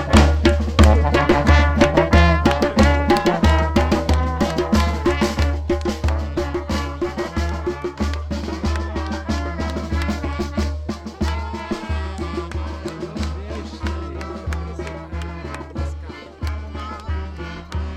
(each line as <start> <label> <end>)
0.0 live music 17.9
0.0 people in masks 17.9